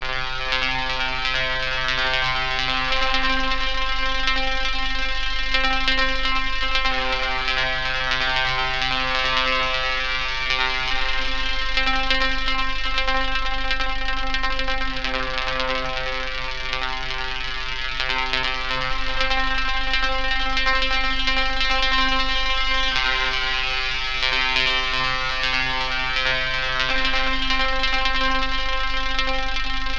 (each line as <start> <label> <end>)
0.0 Detuned Electromagnetic Noise 29.9